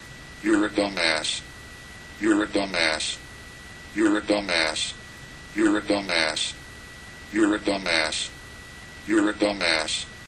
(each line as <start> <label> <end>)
0.4 voice 1.4
2.2 voice 3.2
4.0 voice 5.0
5.6 voice 6.6
7.3 voice 8.4
9.1 voice 10.1